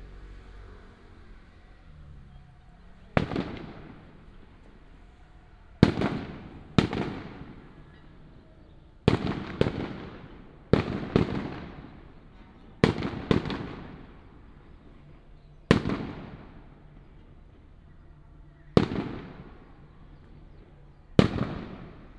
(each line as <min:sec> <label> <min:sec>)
0:00.3 Firecrackers 0:22.1
0:01.4 fireworks 0:22.1